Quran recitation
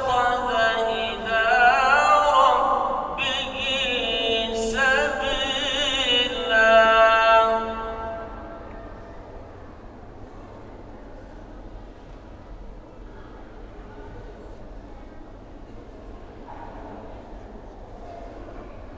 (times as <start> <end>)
0.0 8.6